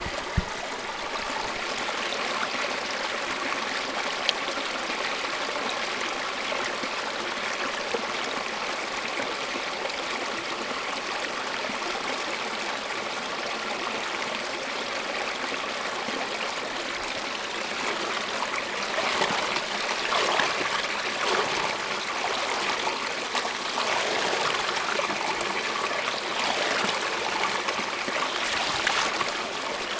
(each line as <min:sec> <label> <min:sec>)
0:18.1 river flowing 0:29.9